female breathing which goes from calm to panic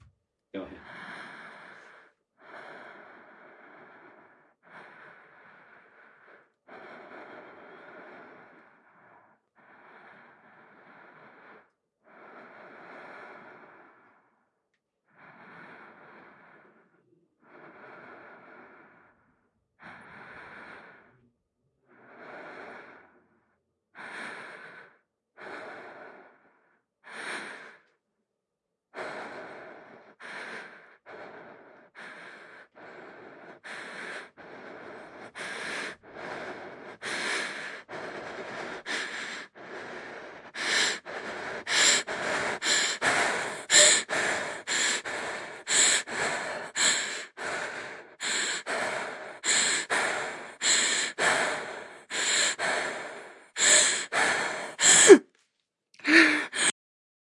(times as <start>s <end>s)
29.0s 55.3s, 56.0s 56.8s